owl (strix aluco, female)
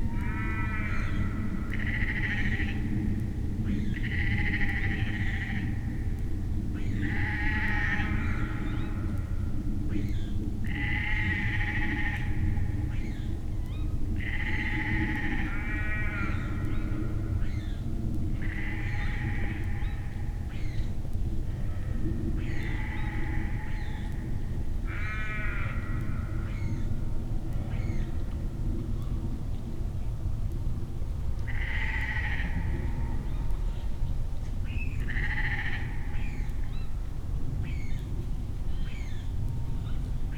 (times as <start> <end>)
18.4 20.9, 27.7 28.2